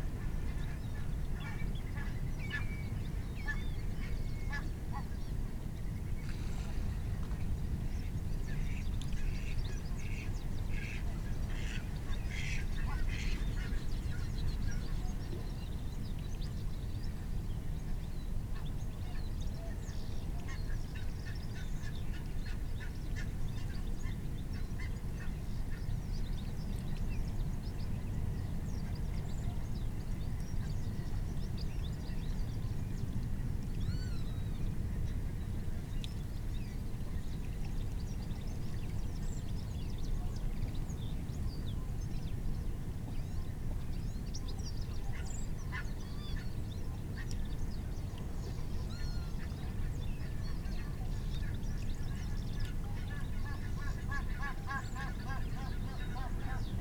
barnacle geese 0:52.9 - 0:56.8

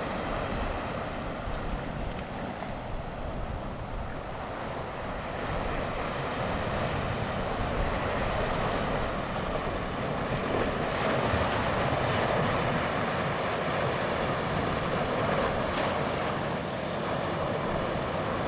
waves 0:00.0 - 0:18.4

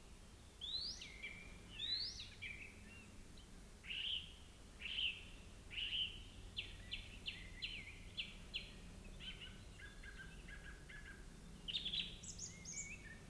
birds 0:00.0 - 0:13.2

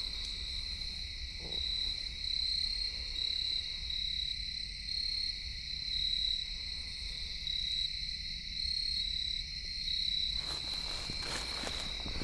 singing insects 0:00.0 - 0:12.2

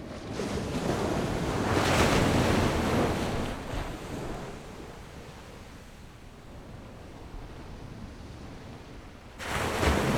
waves 0:00.1 - 0:10.1

